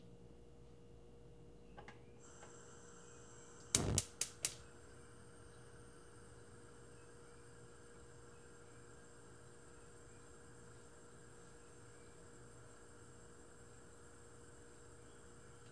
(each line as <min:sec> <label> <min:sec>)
0:02.2 Stove noise 0:15.7